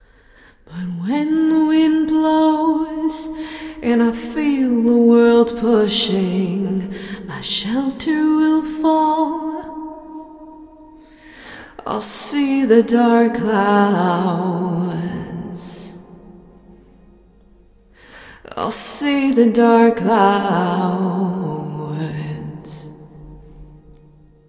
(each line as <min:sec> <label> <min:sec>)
0:00.6 female vocal 0:16.0
0:18.4 female vocal 0:23.2